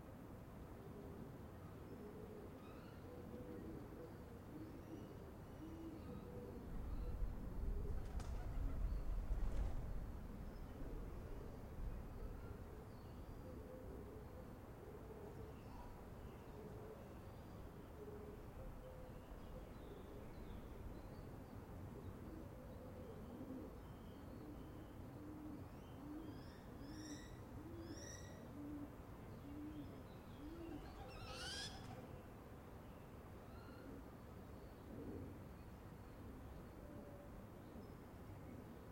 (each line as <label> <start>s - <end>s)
wind 0.0s - 38.9s
pigeons 0.8s - 17.4s
wings 7.8s - 10.0s
pigeons 22.0s - 26.7s
bird sounds 22.7s - 32.3s
pigeons 27.5s - 32.1s